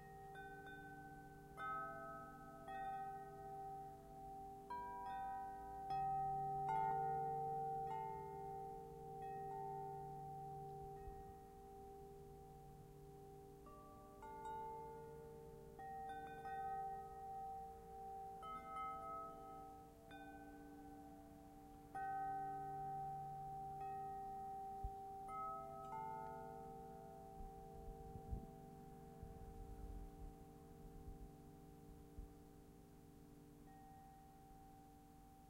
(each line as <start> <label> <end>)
0.0 wind chimes 35.4